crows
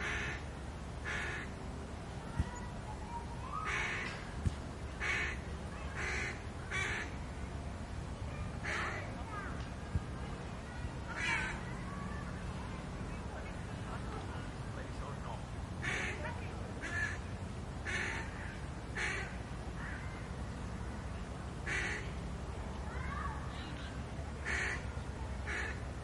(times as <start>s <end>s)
1.1s 1.5s, 11.2s 11.6s